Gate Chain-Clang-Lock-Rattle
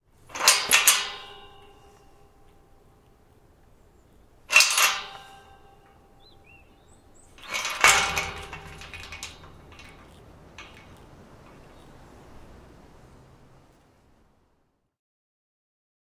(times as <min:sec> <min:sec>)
0:00.3 0:02.4, 0:04.5 0:06.2, 0:07.0 0:12.2